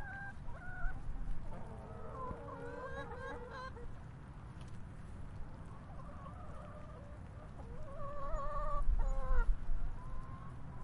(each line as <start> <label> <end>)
0.0 Chickens making soft sounds 10.8